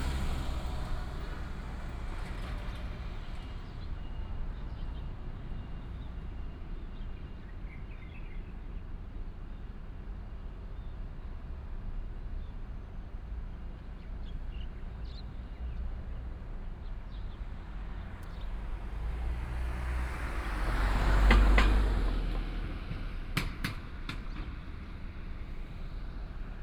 traffic sound 0:00.0 - 0:09.3
traffic sound 0:09.9 - 0:26.6

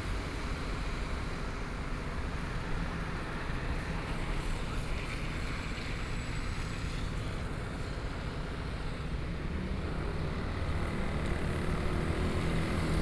Traffic Noise 0:07.6 - 0:13.0

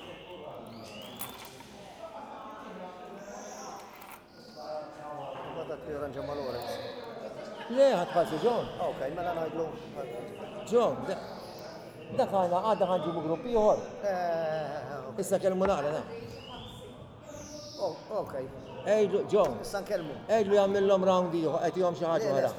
bird in a cage tweeting 0:00.0 - 0:01.7
bird in a cage tweeting 0:03.1 - 0:07.1

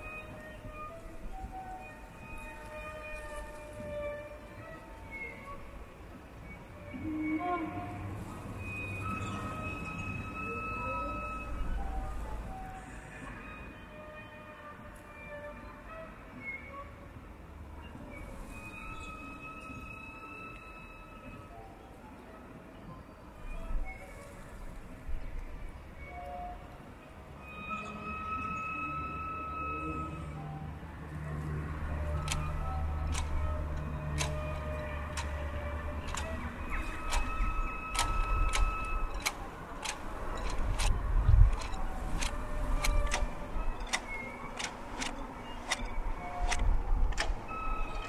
squeaky factory which sounds musical 0:00.0 - 0:17.2
squeaky factory which sounds musical 0:17.8 - 0:21.8
squeaky factory which sounds musical 0:25.9 - 0:48.0
cars 0:29.0 - 0:48.0

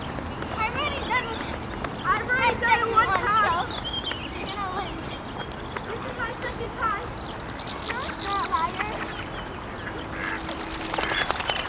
ducks 0:07.8 - 0:11.6
geese 0:08.8 - 0:11.6

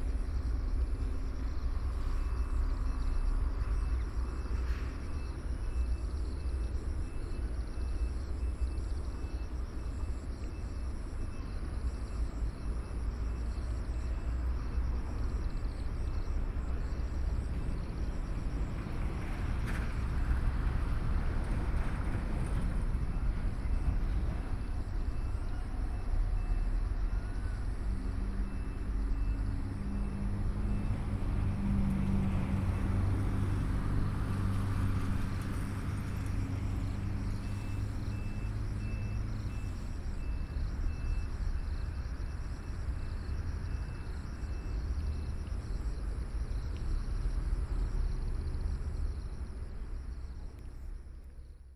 Traffic Sound 0:10.9 - 0:51.7

